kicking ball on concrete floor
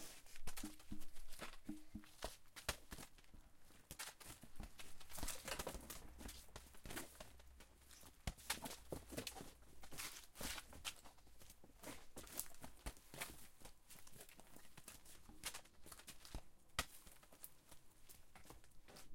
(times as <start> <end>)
0.4 3.1